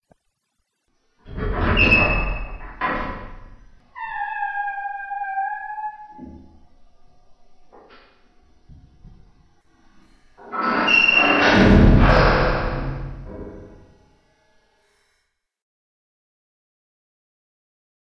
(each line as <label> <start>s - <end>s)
'Prison gate' door sound 1.3s - 6.6s
'Prison gate' door sound 10.4s - 13.9s